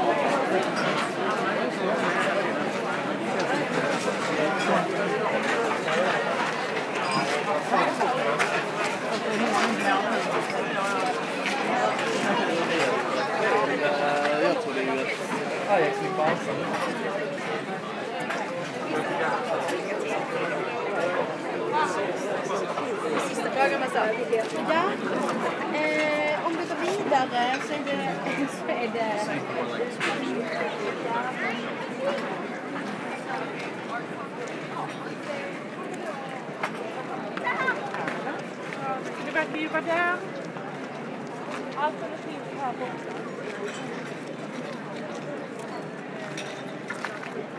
0.0s restaurants 47.5s

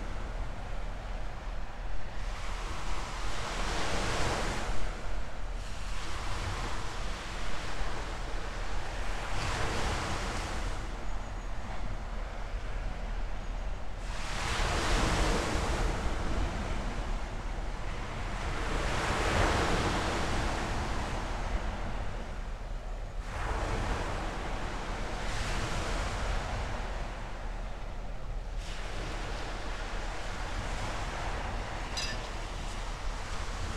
0.0s sea 33.7s

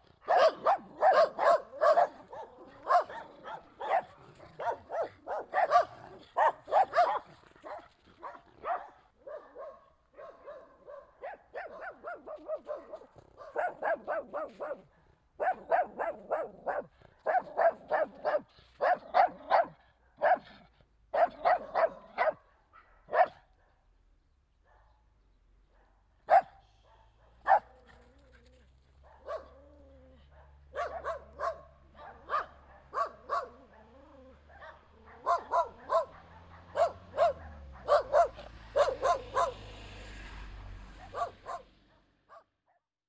0.0s Dogs barking 23.9s
25.6s Dogs barking 40.2s
40.9s Dogs barking 42.5s

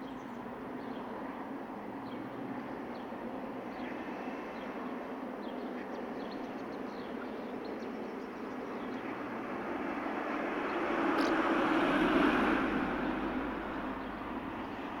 0.0s small aircraft passes overhead 15.0s
8.9s couple of cars passing by 15.0s

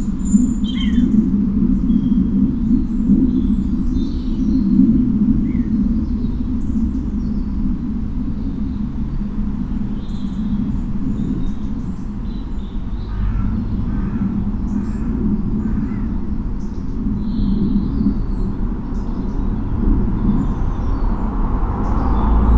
0.0s song birds 22.5s
13.1s loud crows 16.1s

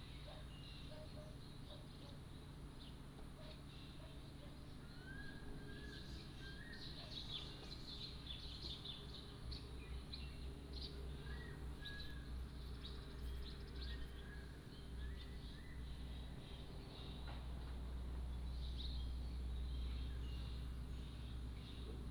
0.0s Birdsong 22.1s

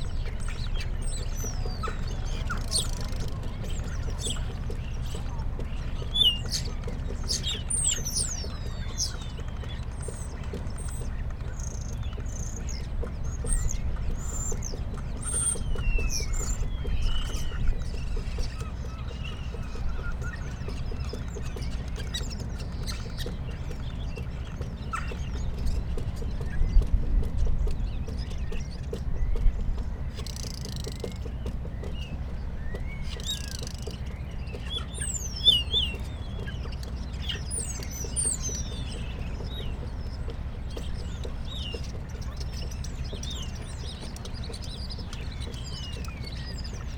0.0s boats leaving harbour 46.9s
0.0s starlings on the harbour light 46.9s

